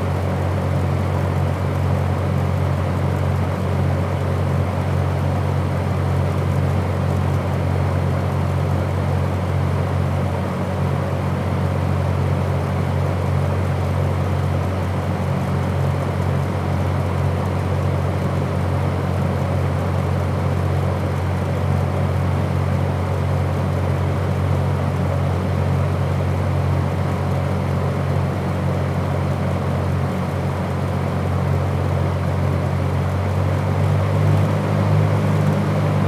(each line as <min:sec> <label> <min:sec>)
0:33.6 ventilation noise 0:36.0